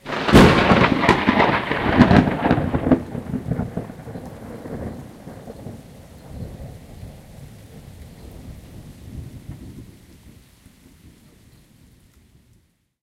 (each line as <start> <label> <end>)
0.0 overhead thunderclap 10.3
0.0 rain 13.0